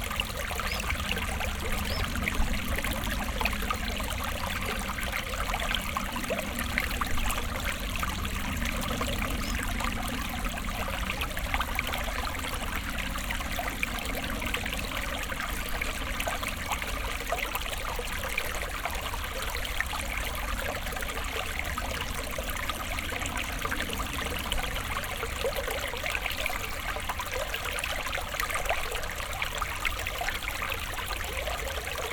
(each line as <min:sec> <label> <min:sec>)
0:00.0 small stream with nice sparkling water sounds flowing 0:32.1